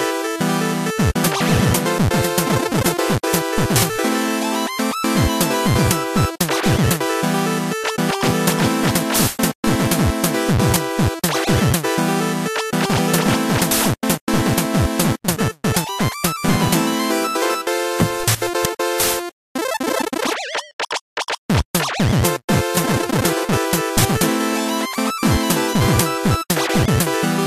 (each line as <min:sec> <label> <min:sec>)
0:00.0 electronica genre music 0:19.4
0:21.8 electronica genre music 0:27.4